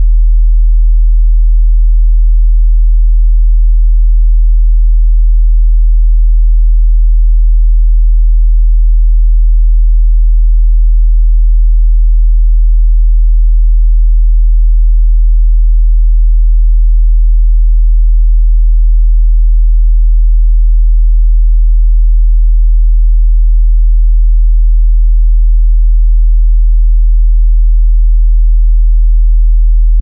Sub Bass01 0.0 - 2.8
Sub Bass01 3.4 - 13.2
Sub Bass01 15.5 - 19.2
Sub Bass01 22.3 - 25.5
Sub Bass01 29.7 - 30.0

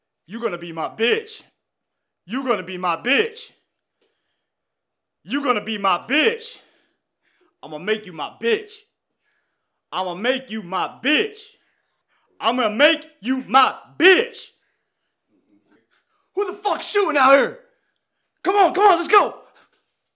Henchman #6 Voice Lines 16.4 - 17.6
Henchman #6 Voice Lines 18.5 - 19.6

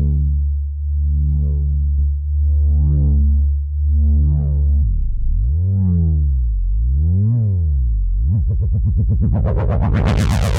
Synthesizer 8.3 - 10.5

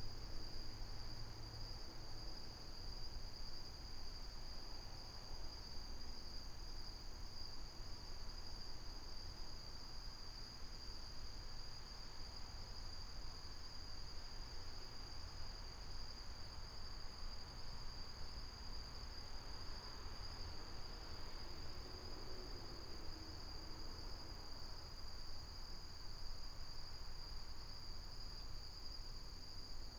crickets 0.0 - 29.9

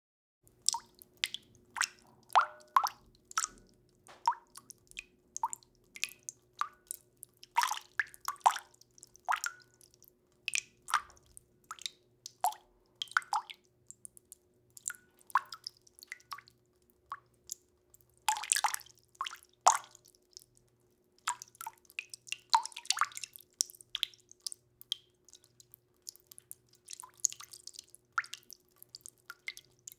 WATER DRIPPING INTO WATER 0.5 - 29.9

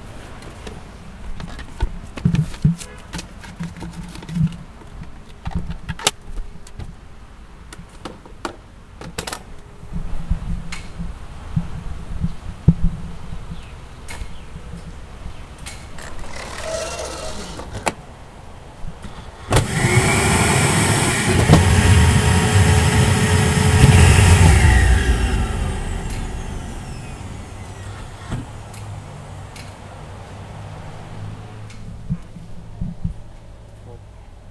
pneumatic capsule through the tube 16.0 - 17.9
pneumatic capsule through the tube 19.0 - 28.8

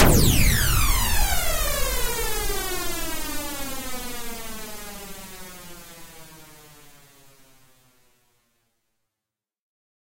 phase-swept noise crash 0.0 - 4.7

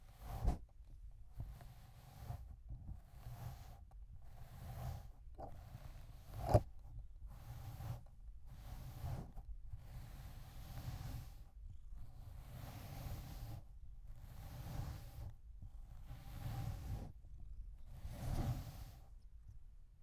Brushing cat 1.4 - 15.3
Brushing cat 15.9 - 17.1
Brushing cat 17.9 - 19.2

